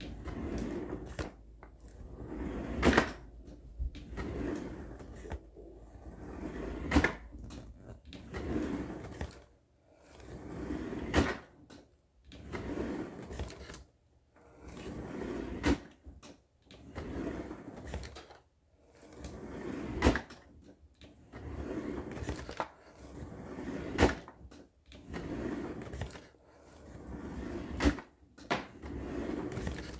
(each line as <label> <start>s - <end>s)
kitchen drawer sliding open and closed 0.0s - 9.5s